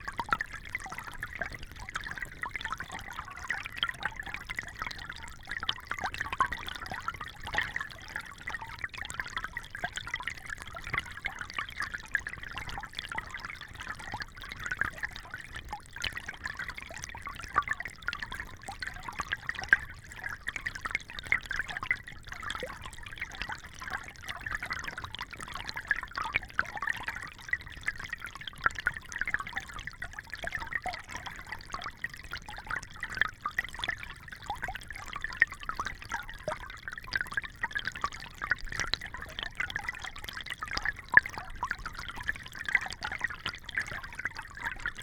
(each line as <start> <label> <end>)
0.0 Creek 45.0